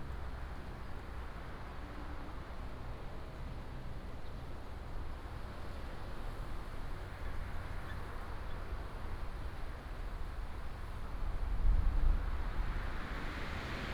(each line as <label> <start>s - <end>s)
wind 0.0s - 13.9s